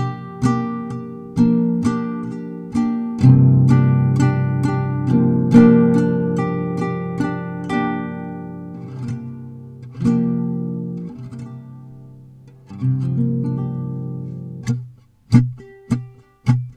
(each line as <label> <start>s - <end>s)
guitar improvisation 0.0s - 16.7s